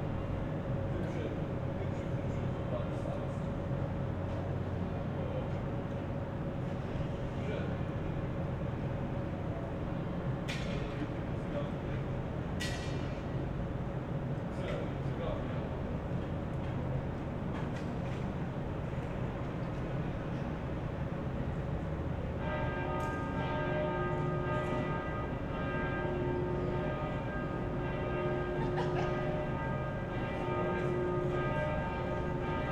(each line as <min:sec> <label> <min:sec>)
0:00.0 hum of many aircons 0:32.7
0:21.5 churchbells 0:32.7